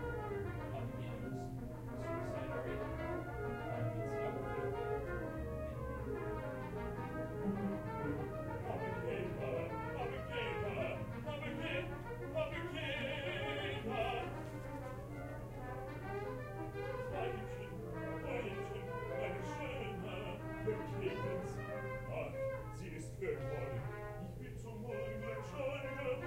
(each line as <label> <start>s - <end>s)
instruments 0.0s - 24.5s